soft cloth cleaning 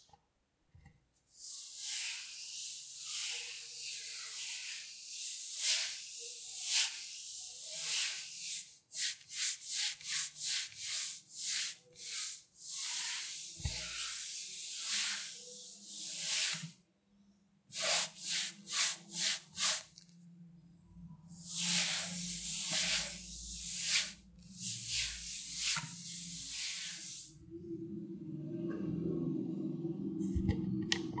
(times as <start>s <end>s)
1.4s 16.8s, 17.7s 20.1s, 21.3s 27.4s